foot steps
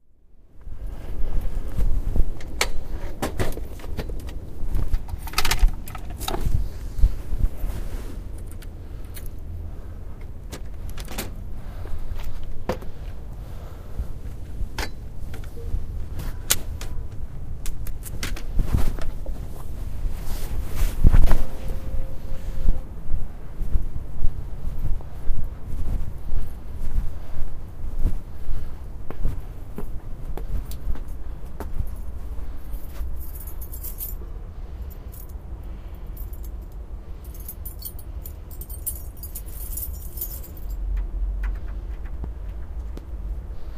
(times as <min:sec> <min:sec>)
0:00.6 0:08.6, 0:11.7 0:21.8, 0:22.5 0:34.2